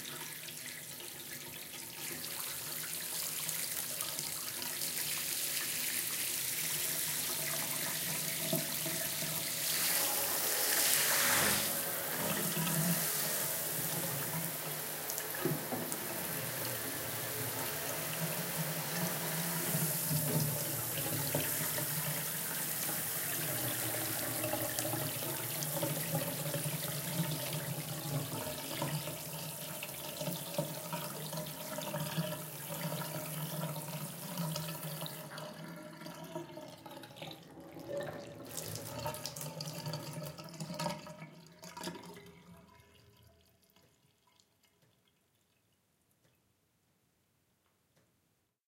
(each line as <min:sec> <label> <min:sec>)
0:00.0 bath drain 0:46.5
0:00.0 filled the bathtub 0:48.2
0:02.0 draind during a shower 0:35.3